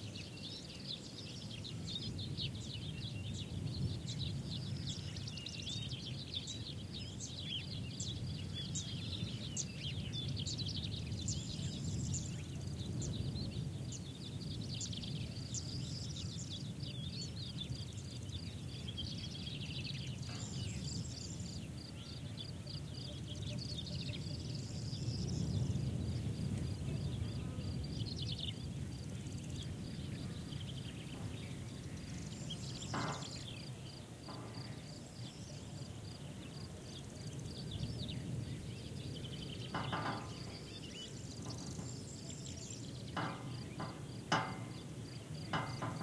0.0s Common Sparrow callings 46.0s
0.0s Fan Tailed Warbler can also be heard singing 46.0s
0.0s smooth wind on vegetation 46.0s
1.0s Crested Larks 46.0s
32.5s distant sheep bells 33.6s
32.6s soft bangs of a loose traffic sign 33.6s
34.3s soft bangs of a loose traffic sign 34.9s
39.7s soft bangs of a loose traffic sign 46.0s
41.4s distant sheep bells 46.0s

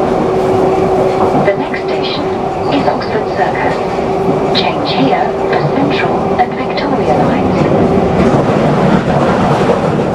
0.0s tube train 10.1s
1.3s announcement 8.0s

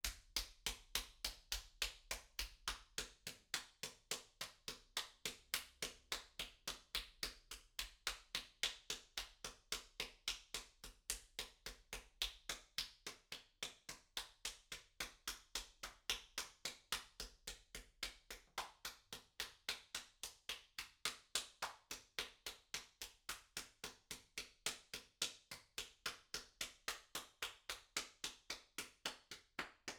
18.0s Applause 29.9s

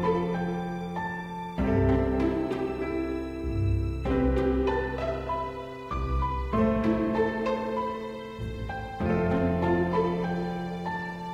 0.0s piano 11.3s
0.0s string 11.3s

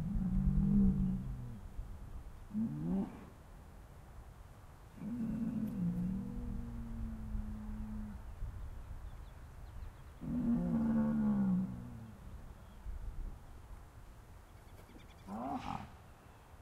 14.4s Birds 16.6s

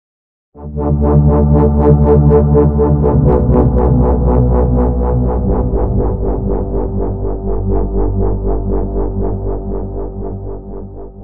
0.6s sub bass 11.2s

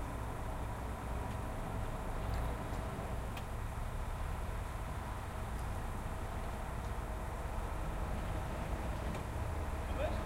0.0s passing by cars 10.2s
9.8s voices 10.2s

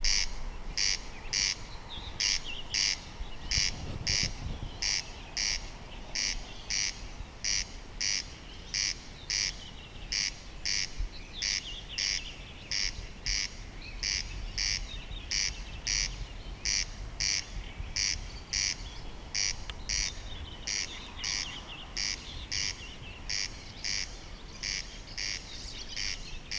0.0s other night birds 26.5s

